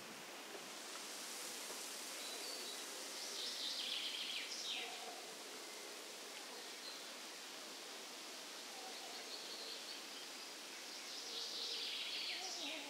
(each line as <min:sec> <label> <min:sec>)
0:04.8 dogs barking far far away 0:05.5
0:06.3 dogs barking far far away 0:06.8
0:08.6 birds 0:12.8